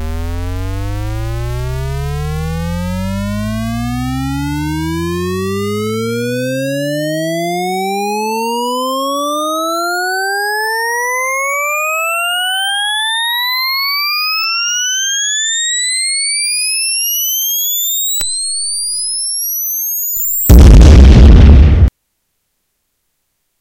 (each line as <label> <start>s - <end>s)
boom 20.5s - 21.9s